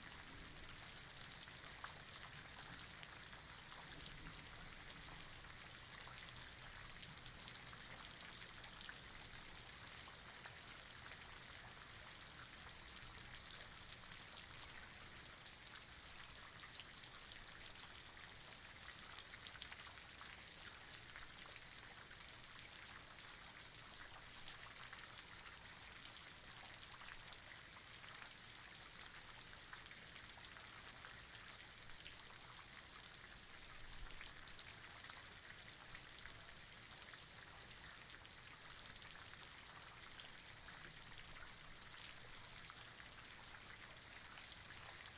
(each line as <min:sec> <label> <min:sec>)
0:00.0 Rain 0:45.1